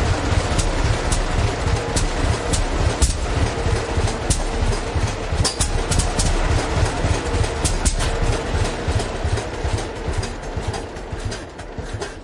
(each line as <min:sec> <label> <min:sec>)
0:00.0 engine 0:12.2